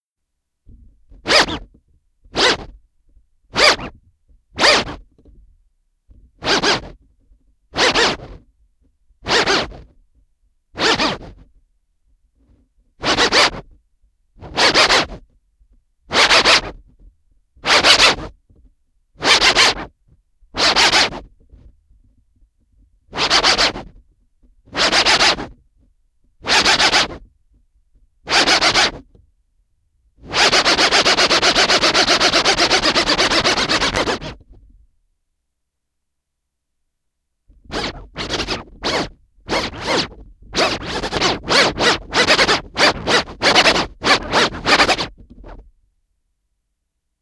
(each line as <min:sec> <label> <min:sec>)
0:37.7 vinyl record scratches 0:45.1